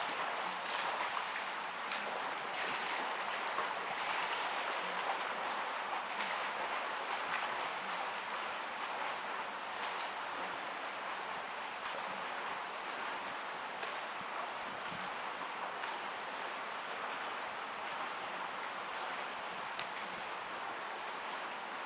0.0s Swimmers at swimming pool 21.8s

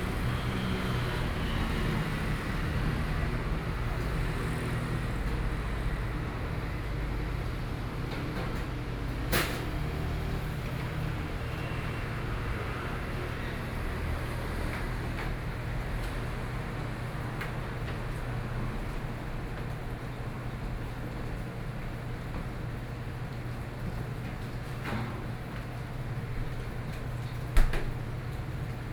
0.0s Traffic Noise 21.7s

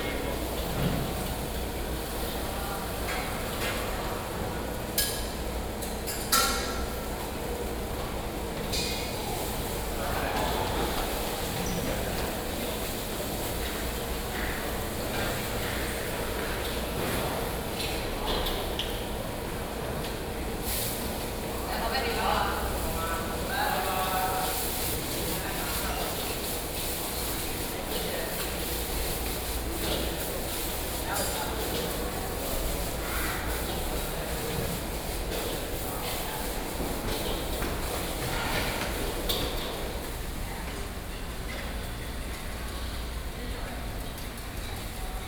0.0s Cooking stall 45.2s

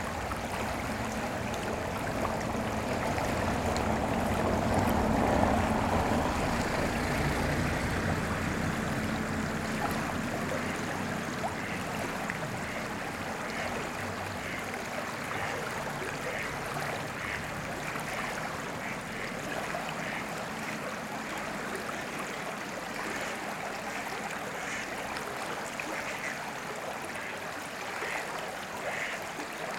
0.0s voices and tones of the river 29.7s
0.2s car can be heard slowly driving past 14.6s
9.9s geese 20.8s
23.2s geese 25.0s
25.9s geese 26.5s
27.2s geese 29.6s

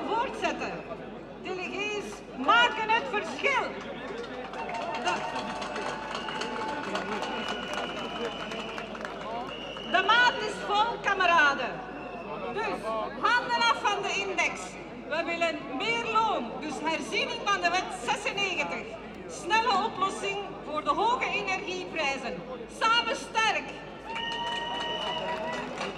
0.0s Speeches at the trade union demonstration 25.9s

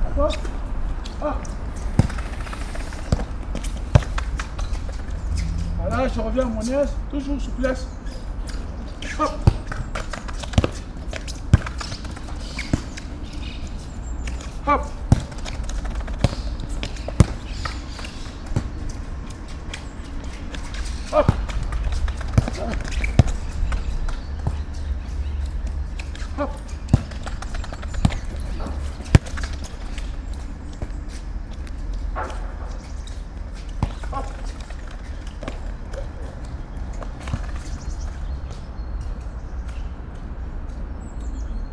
0.0s football training 39.6s

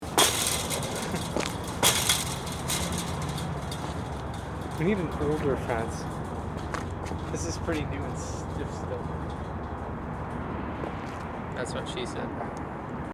0.0s Fence kicking 8.0s

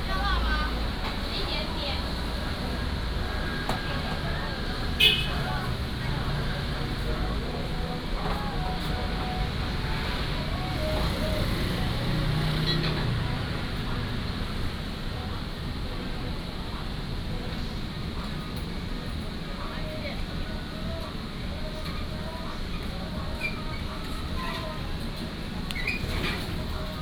0.0s Traffic Sound 18.8s

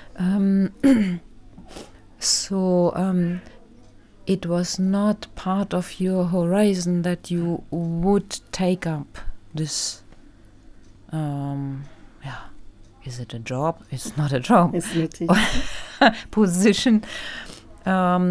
13.7s interview 17.2s

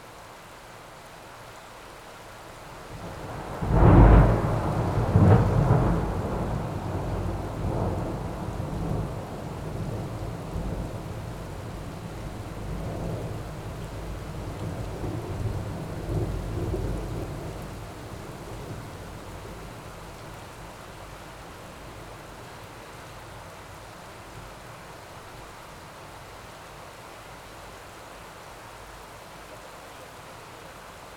0.0s rain 31.1s
3.0s thunder 11.0s

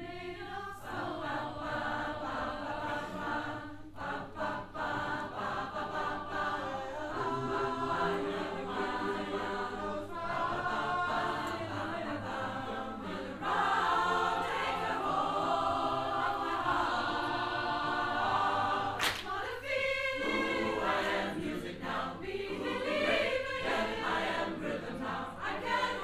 0.0s choir 26.0s

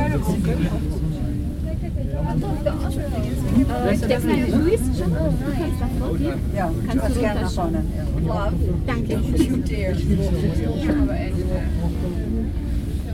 0.0s babble of voices 13.1s

